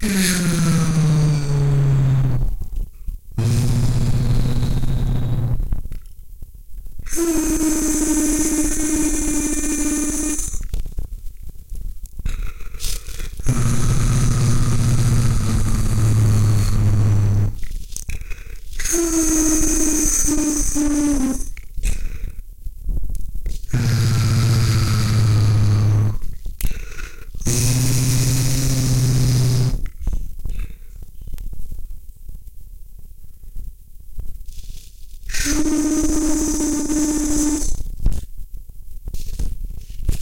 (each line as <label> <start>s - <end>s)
hum 0.0s - 40.1s